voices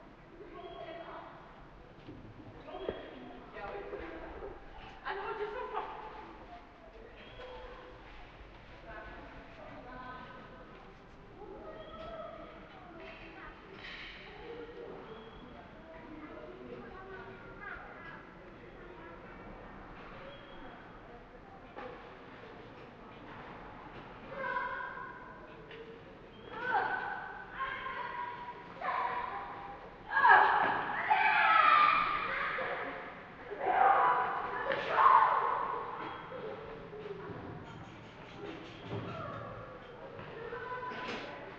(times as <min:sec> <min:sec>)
0:24.2 0:41.5